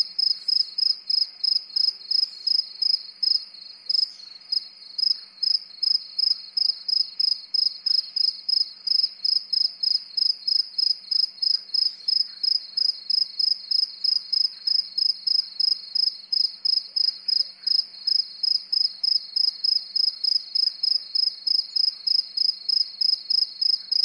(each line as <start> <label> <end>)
0.0 crickets chriping at 'medium' speed 24.0